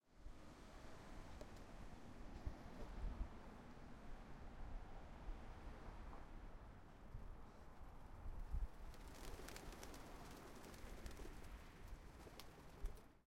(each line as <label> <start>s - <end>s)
pigeons 8.9s - 13.1s